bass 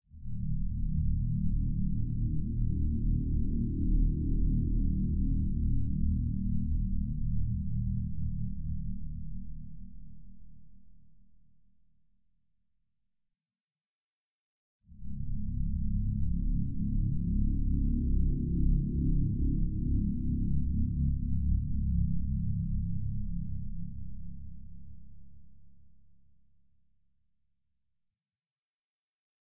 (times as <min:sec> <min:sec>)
0:00.1 0:11.3, 0:14.9 0:26.2